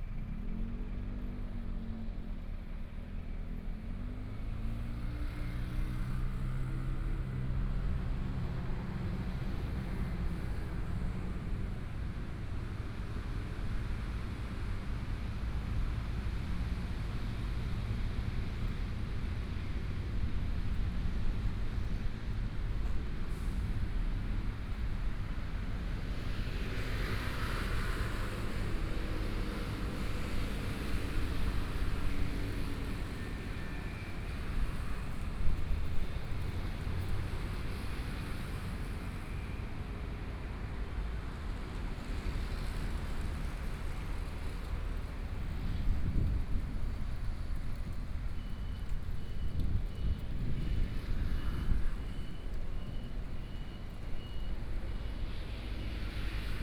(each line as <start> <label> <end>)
0.0 Traffic Sound 56.6
42.0 Walking on the road 56.6